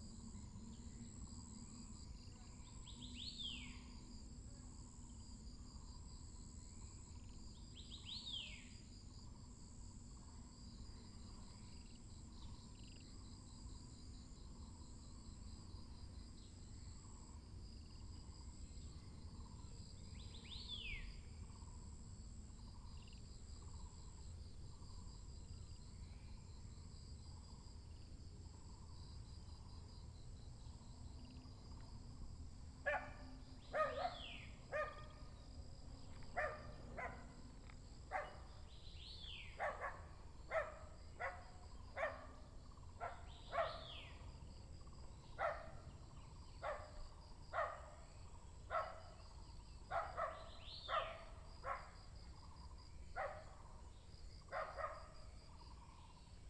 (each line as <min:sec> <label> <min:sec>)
0:32.9 Birds singing 0:35.4
0:38.1 Birds singing 0:44.3
0:49.9 Birds singing 0:51.8